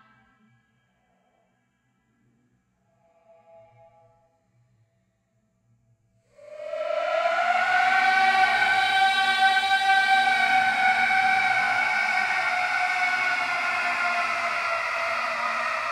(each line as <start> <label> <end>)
6.4 voice 15.9